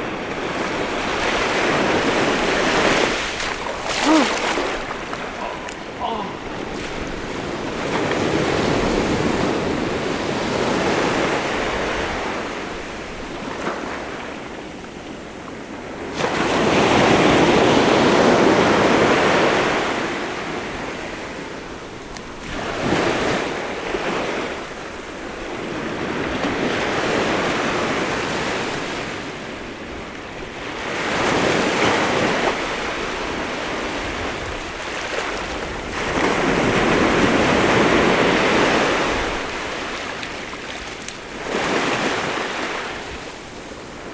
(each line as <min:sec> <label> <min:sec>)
0:01.4 walking in the water 0:09.6
0:34.0 walking in the water 0:38.3
0:39.0 walking in the water 0:44.1